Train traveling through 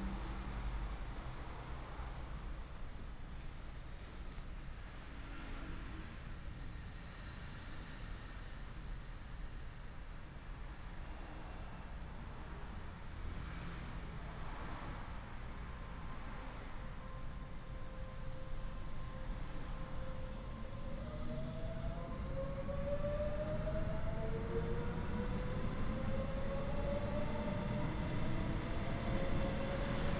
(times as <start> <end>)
15.8 30.1